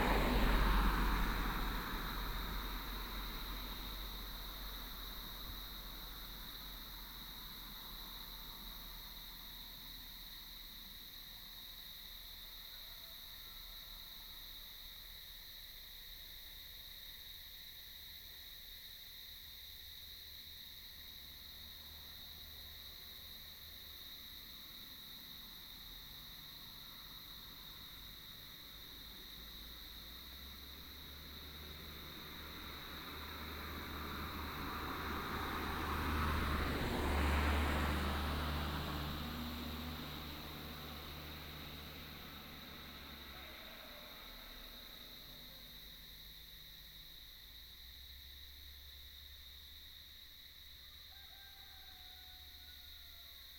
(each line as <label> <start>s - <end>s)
traffic sound 0.0s - 15.3s
cicadas 0.0s - 53.5s
traffic sound 20.9s - 53.5s
Chicken roar 42.9s - 45.2s
Chicken roar 51.0s - 53.4s